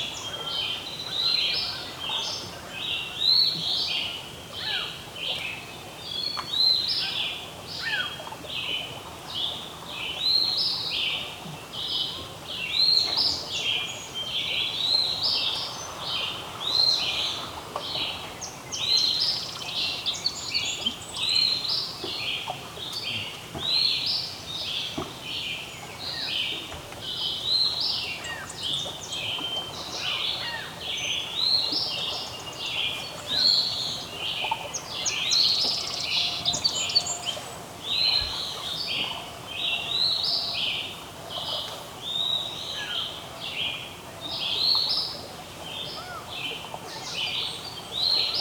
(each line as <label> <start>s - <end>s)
Early morning birdsong 9.4s - 48.4s
waves in distance 13.1s - 22.2s